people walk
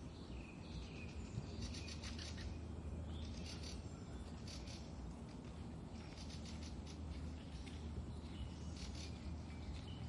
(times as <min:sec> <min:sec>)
0:04.2 0:10.0